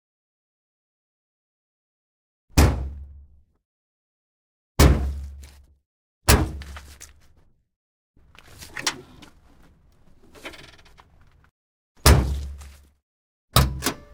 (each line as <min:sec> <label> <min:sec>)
0:08.2 trunk open close various 0:12.8
0:08.4 door open close 0:11.5
0:13.6 door open close 0:14.1
0:13.6 trunk open close various 0:14.1